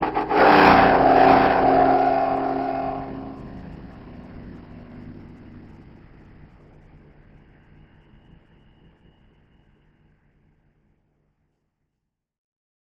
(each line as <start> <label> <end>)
0.0 Scraping and bowing metal sheets 5.8